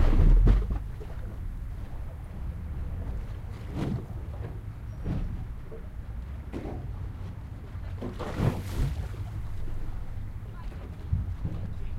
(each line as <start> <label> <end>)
0.0 River is sloshing underneath the pier 11.9
0.0 boats 11.9